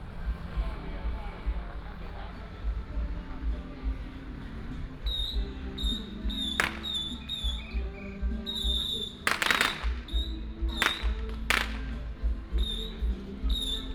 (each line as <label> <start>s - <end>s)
Many people gathered at the intersection 0.0s - 13.9s
Firecrackers 5.1s - 13.9s
fireworks 5.1s - 7.8s
fireworks 8.5s - 12.0s